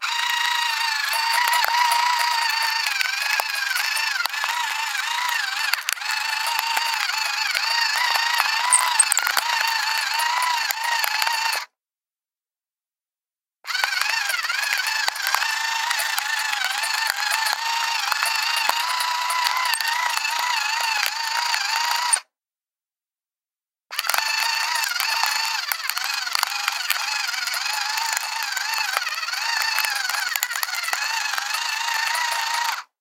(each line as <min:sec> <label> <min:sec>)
0:00.0 electric pepper mill 0:11.7
0:13.7 electric pepper mill 0:22.2
0:23.9 electric pepper mill 0:32.9